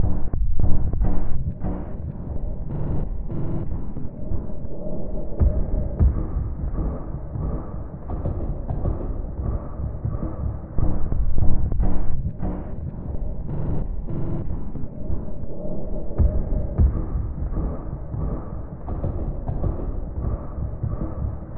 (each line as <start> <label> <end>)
5.4 Drum 7.6
16.2 Drum 21.5